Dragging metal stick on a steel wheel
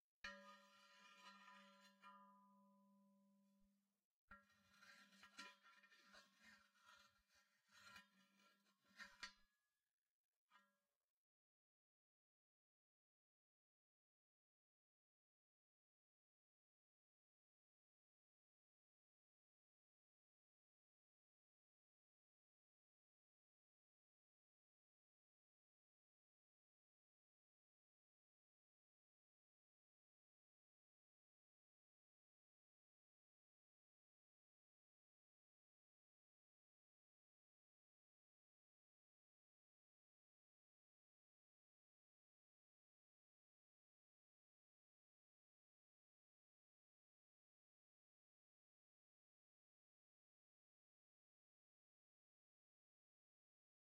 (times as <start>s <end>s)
0.3s 2.9s, 4.3s 9.5s